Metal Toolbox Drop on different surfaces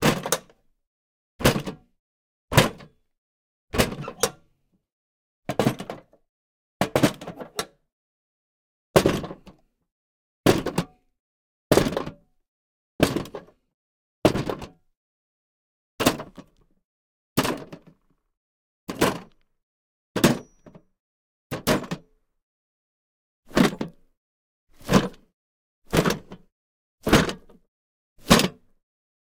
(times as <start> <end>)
0.0 0.4, 9.0 9.4, 20.2 20.8, 28.2 28.7